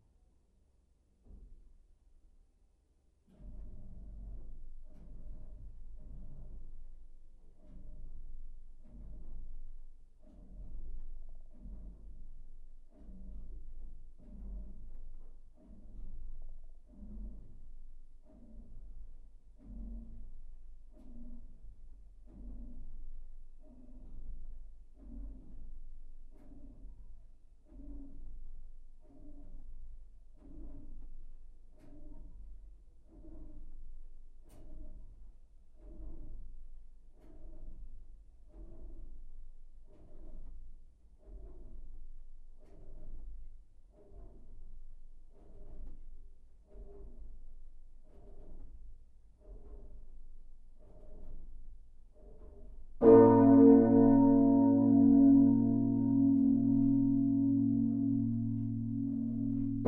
solo of the biggest bell 0:53.0 - 0:59.8

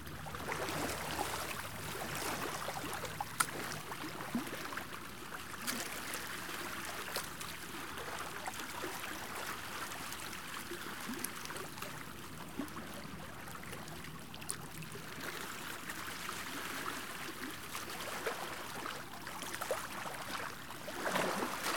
light boating ambiance 0:00.0 - 0:08.6

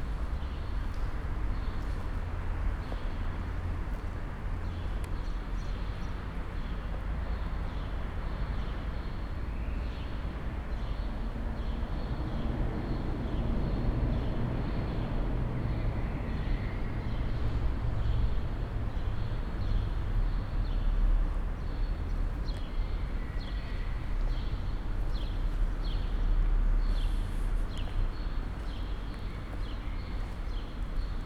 walk 0:01.8 - 0:03.2
walk 0:27.0 - 0:31.2

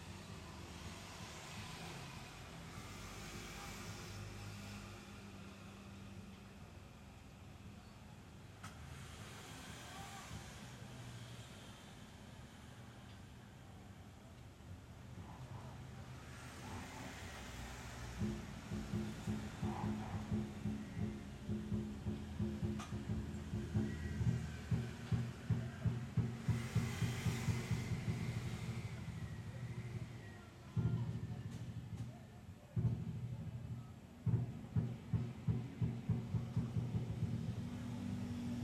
cars passing by 0:00.0 - 0:07.6
cars passing by 0:08.4 - 0:38.6
teams of sport were hitting in playground 0:16.4 - 0:38.6
drums group were practicing 0:17.9 - 0:38.6

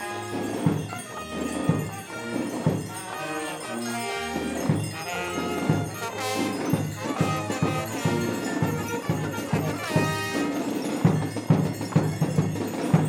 fanfare 0:00.0 - 0:11.0
dancing in the streets 0:00.0 - 0:13.0

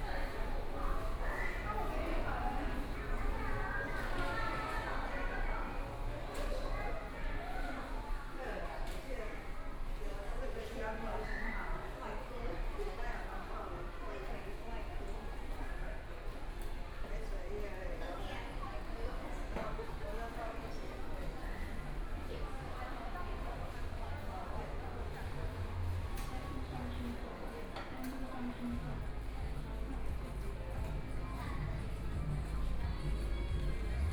Walking through the station 0:00.0 - 0:34.1

